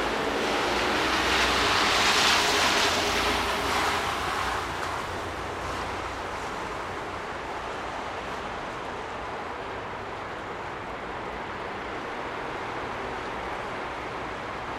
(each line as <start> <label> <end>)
0.0 snow melting 8.1
0.0 cars passing through puddles 14.7